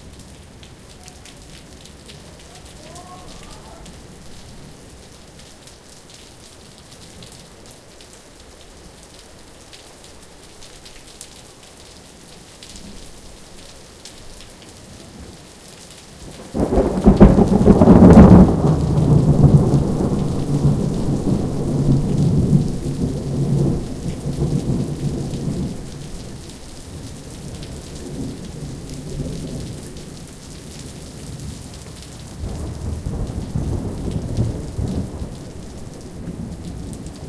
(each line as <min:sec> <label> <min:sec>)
0:00.0 heavy rain 0:37.2
0:16.4 thunder 0:25.8
0:32.4 thunder 0:37.2